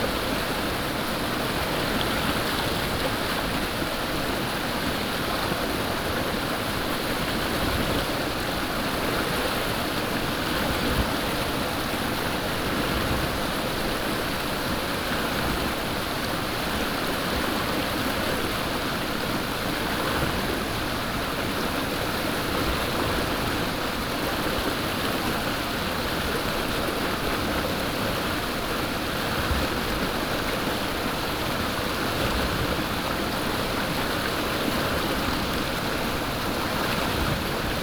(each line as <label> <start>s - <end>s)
Brook 0.0s - 37.8s